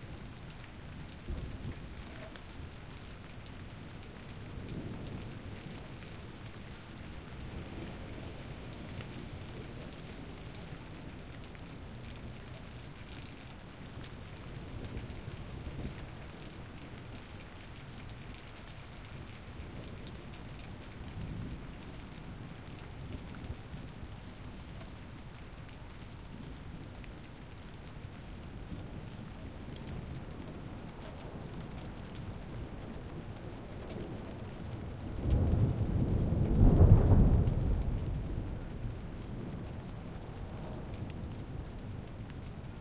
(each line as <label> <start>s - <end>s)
rain 0.0s - 42.8s
thunder 34.6s - 41.4s